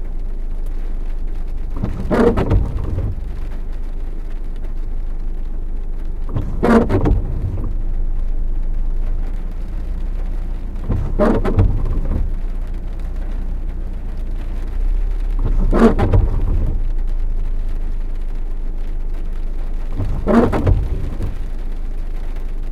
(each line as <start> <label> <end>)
0.0 rain 22.7
0.0 windshield wipers 22.7